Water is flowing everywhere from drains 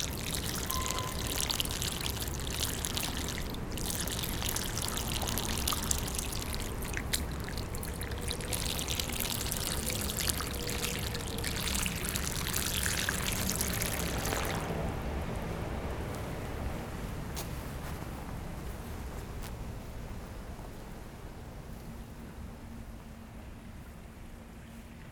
0.0 17.2

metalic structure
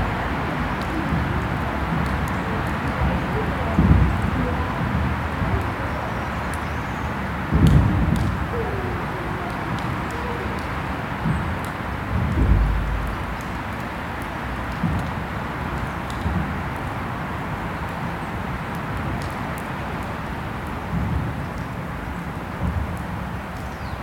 12.2 14.1

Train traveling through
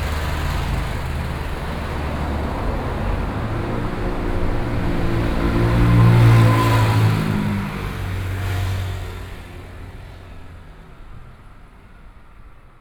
0.0 8.3

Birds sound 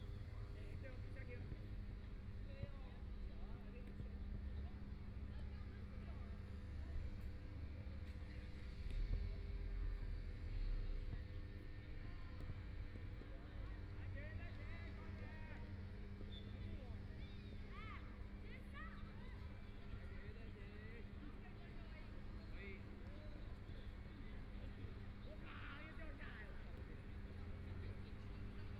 16.2 17.8

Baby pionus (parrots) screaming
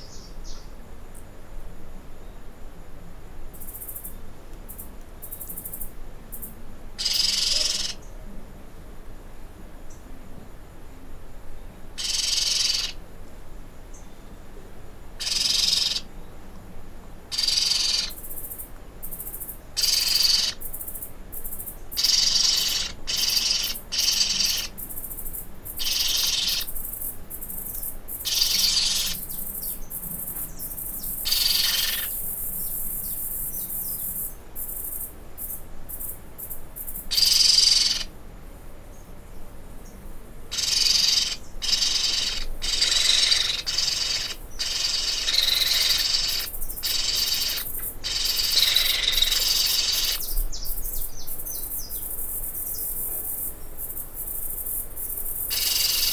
7.0 8.0, 12.0 13.0, 15.2 16.0, 17.3 18.2, 19.8 20.6, 22.0 24.8, 25.8 26.7, 28.2 29.2, 31.2 32.2, 37.1 38.1, 40.5 50.3, 55.5 56.1

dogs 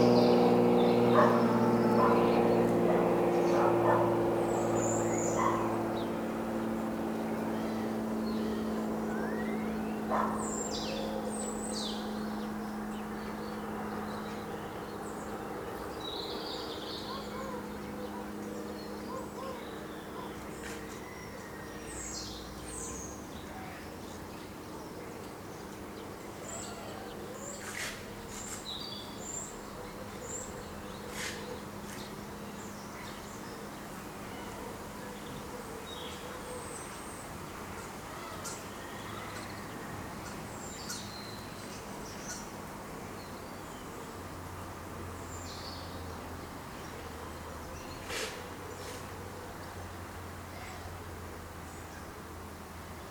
1.1 2.3, 2.9 4.2, 5.3 5.8, 10.1 11.0, 17.0 18.3, 19.0 20.9, 34.4 36.9

